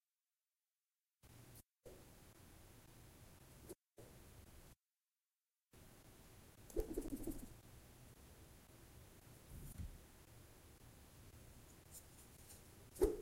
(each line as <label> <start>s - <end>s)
air whooshes made with wooden tubes in air 12.9s - 13.2s